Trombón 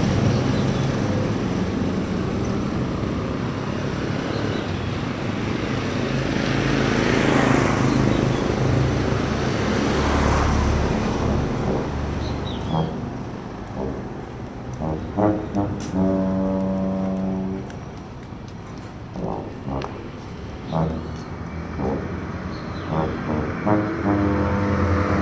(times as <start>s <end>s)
10.9s 17.8s, 19.1s 25.2s